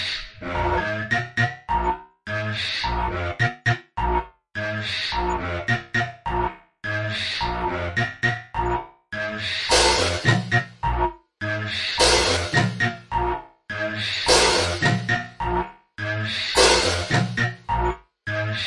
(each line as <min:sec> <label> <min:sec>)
0:12.0 drum 0:12.9